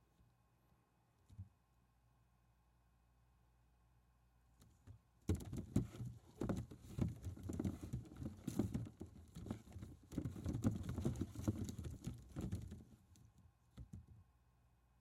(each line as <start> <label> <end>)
4.8 Stirring Baseballs Thump bump movement 14.1